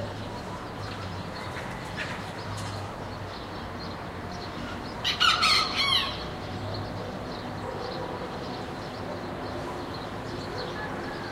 birds chirping 0:00.0 - 0:11.3
soft traffic noise 0:00.0 - 0:11.3
roosters crowing 0:05.0 - 0:06.5
roosters crowing 0:10.6 - 0:11.3

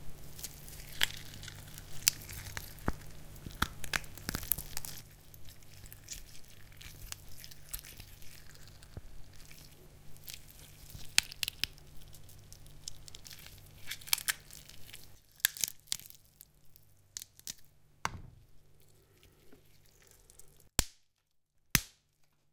Tearing Sinews 0:00.2 - 0:17.7

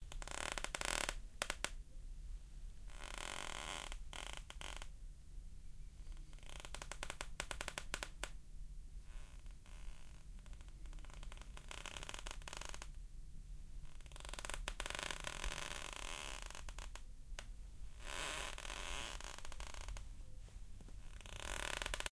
Creaking Wooden Floor 0:02.9 - 0:04.9
Creaking Wooden Floor 0:06.4 - 0:08.2
Creaking Wooden Floor 0:09.2 - 0:12.9
Creaking Wooden Floor 0:14.0 - 0:17.0
Creaking Wooden Floor 0:18.0 - 0:20.0
Creaking Wooden Floor 0:20.9 - 0:22.1

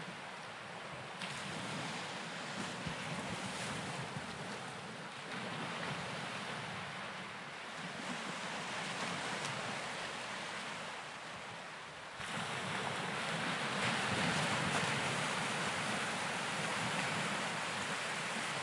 light waves 0:00.0 - 0:18.6

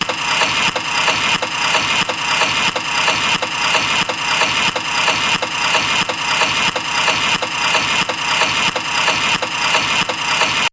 Rhythmic Clock Winding 0:00.0 - 0:10.7

